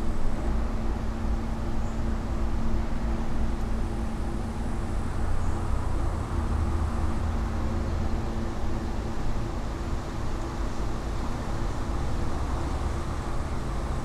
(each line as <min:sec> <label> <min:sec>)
0:00.0 constant drone is from the near factory 0:14.0